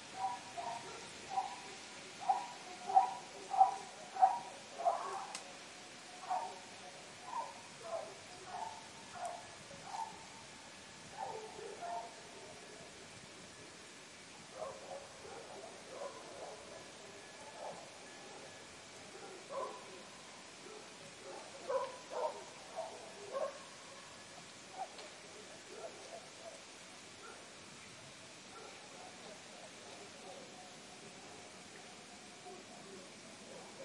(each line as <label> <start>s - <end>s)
dogs barking in the distance 0.0s - 12.9s
dogs barking in the distance 14.4s - 27.7s
dogs barking in the distance 28.3s - 33.8s